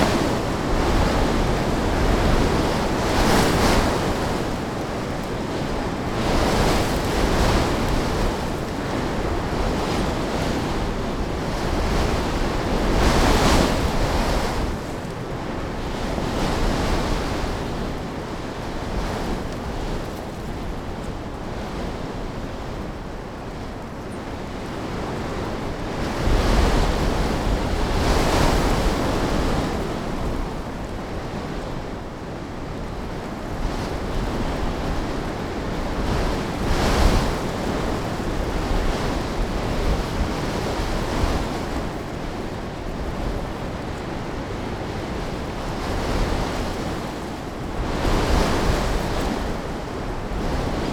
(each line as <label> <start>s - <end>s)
Wind 0.0s - 50.9s